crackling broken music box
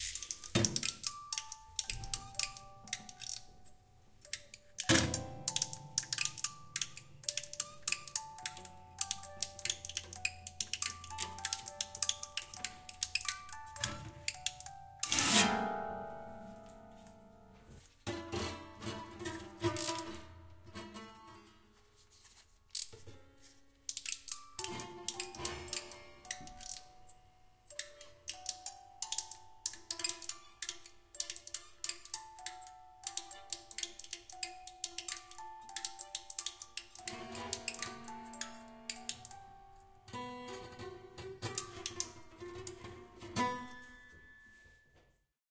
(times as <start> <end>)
0.0 15.9, 23.8 44.0